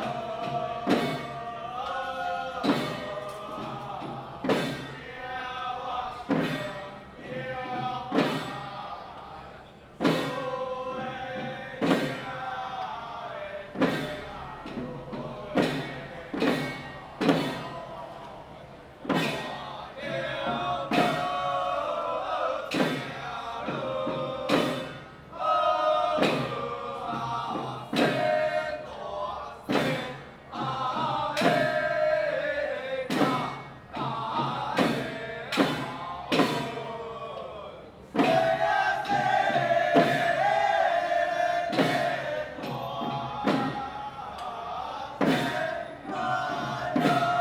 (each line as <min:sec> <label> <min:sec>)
0:00.0 Traditional troupes 0:47.4